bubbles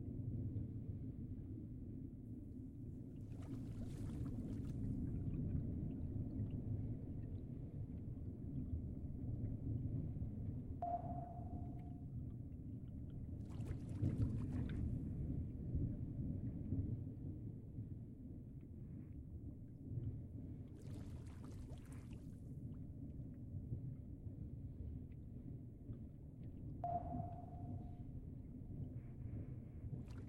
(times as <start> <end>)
3.2 5.4